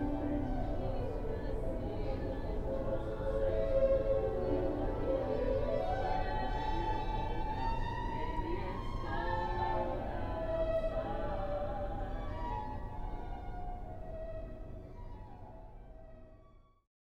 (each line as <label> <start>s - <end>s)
two vocalists practicing a holiday song 0.0s - 13.1s